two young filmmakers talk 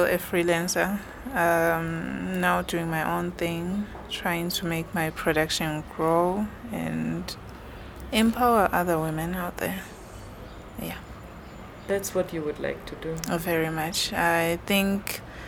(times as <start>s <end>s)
11.8s 15.2s